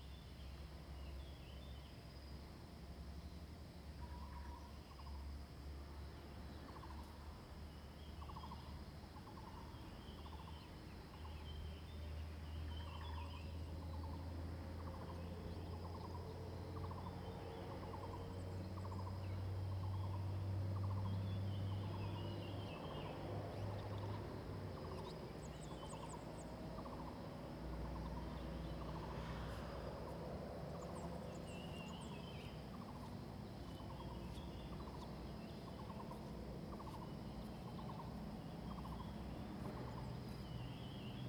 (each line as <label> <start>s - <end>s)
traffic sounds 11.8s - 41.2s
Bird 14.8s - 41.2s